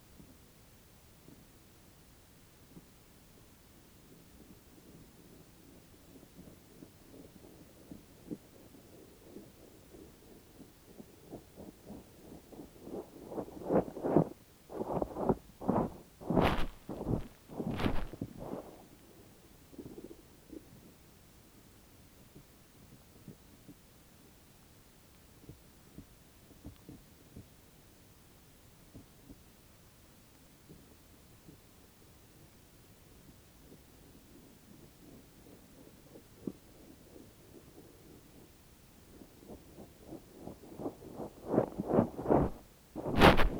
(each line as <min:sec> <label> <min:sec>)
0:04.0 noisy clay movements 0:21.2
0:08.8 mole digging a tunnel 0:19.0
0:16.3 microphone made a jump into the mound 0:18.2
0:33.3 noisy clay movements 0:43.5
0:39.3 mole digging a tunnel 0:43.5
0:42.3 microphone made a jump into the mound 0:43.5